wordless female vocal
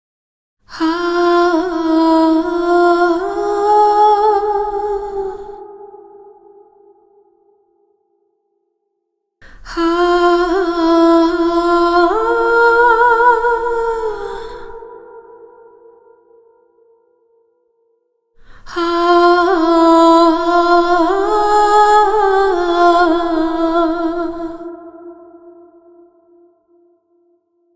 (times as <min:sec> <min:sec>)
0:00.7 0:06.5, 0:09.4 0:15.8, 0:18.4 0:26.1